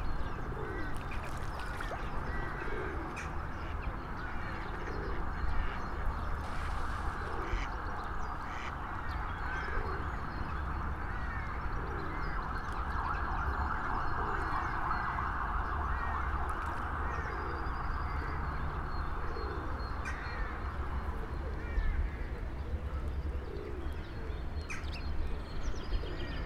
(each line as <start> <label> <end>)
0.0 Pigeons 7.8
1.0 splashing fish 2.2
9.5 Pigeons 10.3
16.0 Pigeons 18.3
19.1 Pigeons 24.8